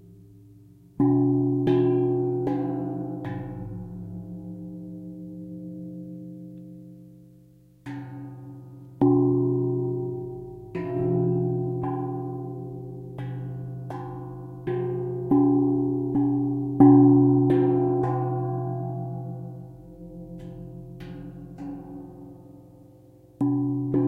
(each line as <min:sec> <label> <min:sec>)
0:01.0 Large Indonesian Gong 0:05.9
0:09.0 Large Indonesian Gong 0:22.3